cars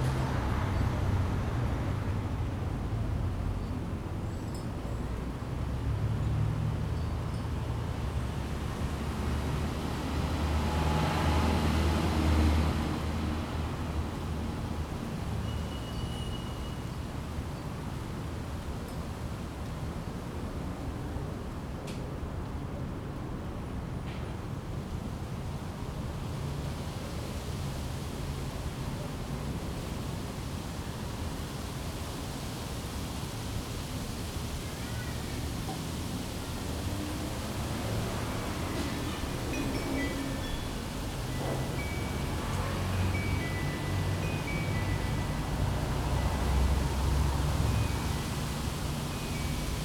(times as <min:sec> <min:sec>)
0:32.3 0:49.8